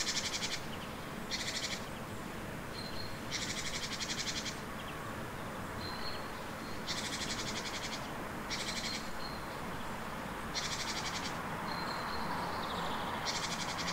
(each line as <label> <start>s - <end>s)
several birds 0.0s - 13.9s
street-noice 0.0s - 13.9s